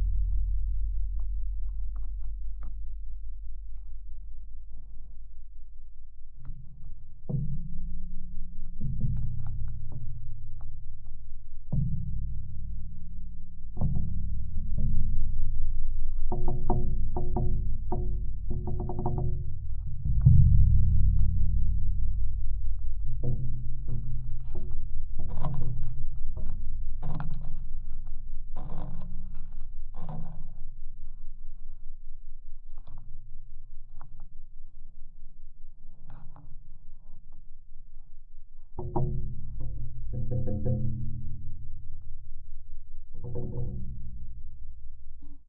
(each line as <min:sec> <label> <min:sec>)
0:00.0 Low Heavy Metal Impacts 0:05.6
0:06.2 Low Heavy Metal Impacts 0:31.2